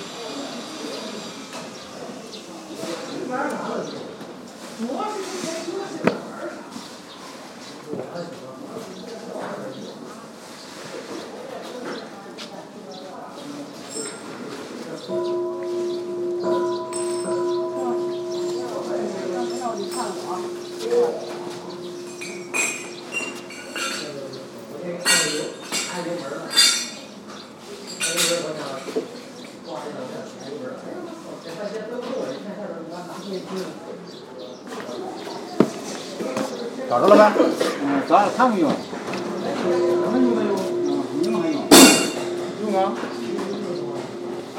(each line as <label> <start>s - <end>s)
Tibetan bowl 15.1s - 27.0s
Tibetan bowl 39.1s - 44.5s